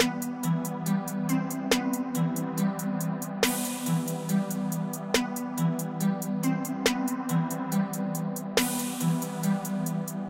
0.0s snare 0.5s
0.0s Bass 10.2s
0.0s hat 10.2s
1.7s snare 2.1s
3.4s snare 4.3s
5.1s snare 5.6s
8.6s snare 9.9s

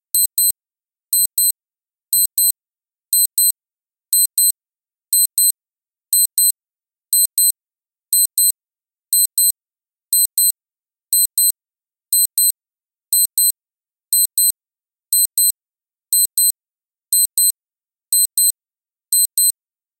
19.2s Casio F-91W Alarm 19.5s

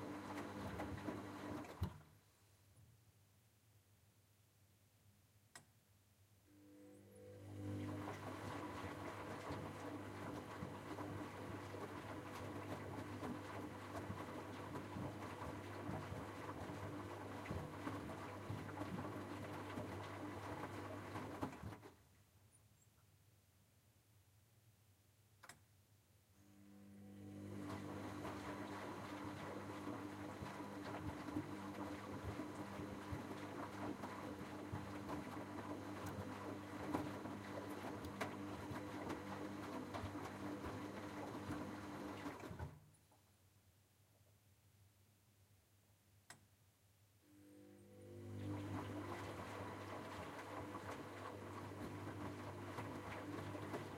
0.0s washing machine washing 2.2s
7.1s washing machine washing 22.0s
27.0s washing machine washing 42.9s
47.6s washing machine washing 53.9s

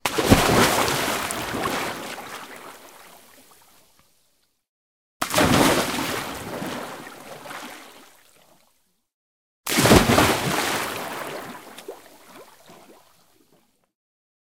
0.0s Jump into water 2.6s
5.2s Jump into water 7.7s
9.7s Jump into water 12.5s

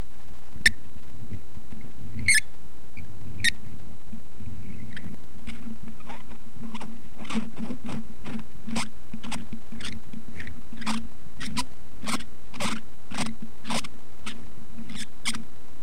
2.2s squeaking noise made by unscrewing a cap off of a microphone 2.5s
4.6s squeaking noise made by unscrewing a cap off of a microphone 7.8s
8.7s squeaking noise made by unscrewing a cap off of a microphone 15.4s

